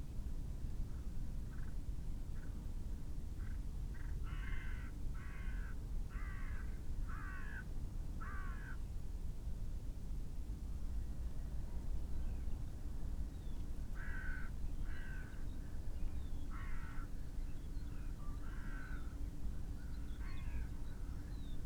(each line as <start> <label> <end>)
0.0 wind 21.6
4.0 crow 8.8
14.0 crow 15.4
16.5 crow 17.1
18.3 crow 19.2